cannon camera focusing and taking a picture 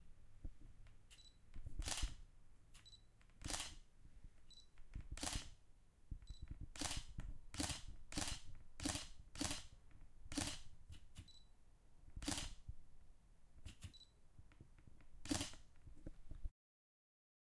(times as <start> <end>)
1.1 2.2, 2.8 3.8, 4.5 5.6, 6.3 11.4, 12.2 12.6, 13.6 14.1, 15.2 15.7